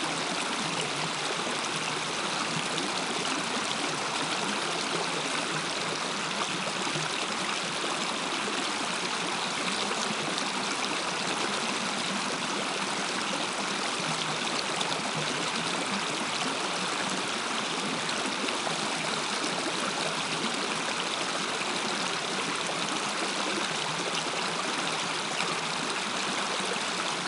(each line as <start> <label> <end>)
0.0 Hot Spring Creek 27.2